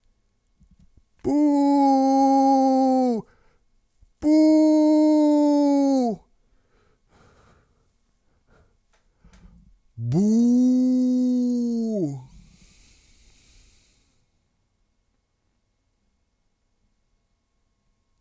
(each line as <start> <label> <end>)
4.2 boo 6.3
10.0 boo 12.3